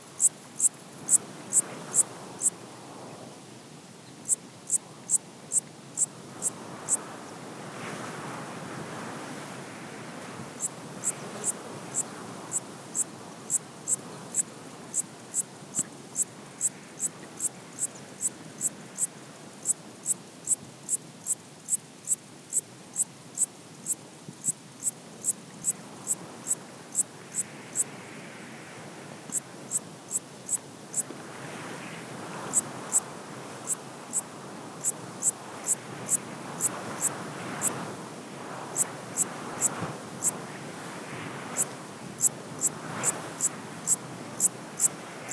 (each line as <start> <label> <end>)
0.0 Wind in the tall grass 45.3
10.6 small locust is singing 27.9
33.6 small locust is singing 37.7